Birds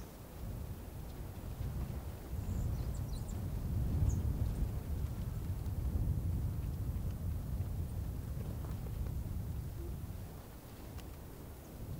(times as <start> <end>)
0.0 5.8, 9.6 11.9